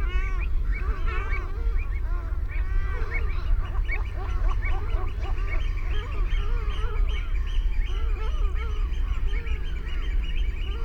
canada goose 0:00.0 - 0:10.8
herring gull 0:00.0 - 0:10.8

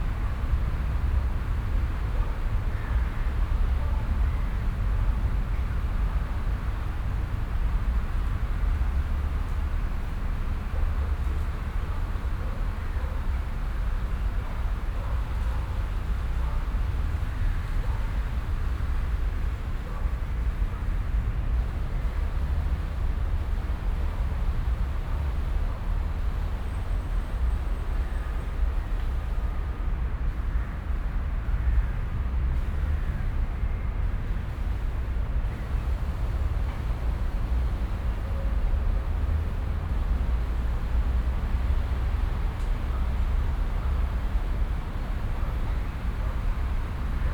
city noise 0:00.0 - 0:47.3
traffic 0:21.6 - 0:47.3

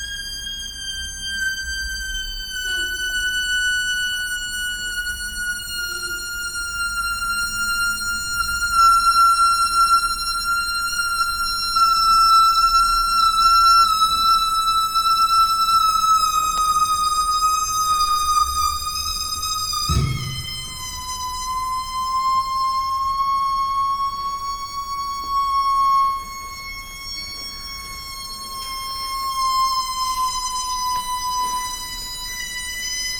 balloon whistles 0:19.9 - 0:21.8

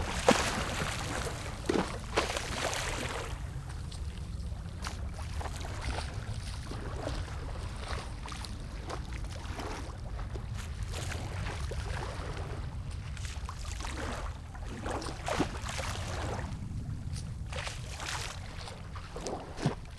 Waves and tides 0:00.0 - 0:10.8
Waves and tides 0:11.4 - 0:19.9

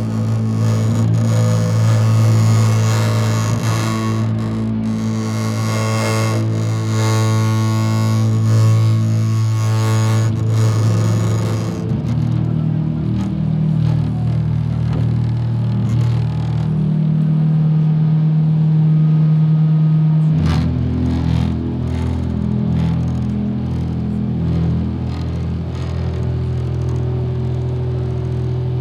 heavy window resonance 0:00.0 - 0:17.2
heavy window resonance 0:20.6 - 0:28.8

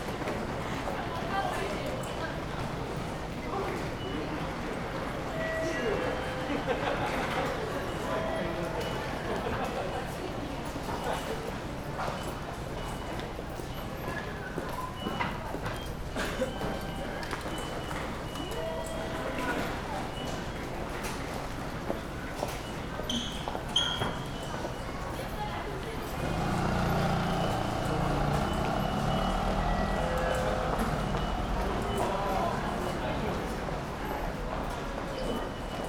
beeps of the tickets gates 0:03.9 - 0:09.6
beeps of the tickets gates 0:12.0 - 0:21.4
beeps of the tickets gates 0:22.4 - 0:25.4
beeps of the tickets gates 0:26.0 - 0:33.0
beeps of the tickets gates 0:35.1 - 0:35.8

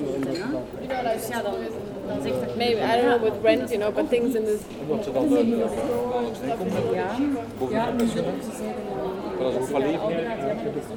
People discussing 0:00.0 - 0:10.9

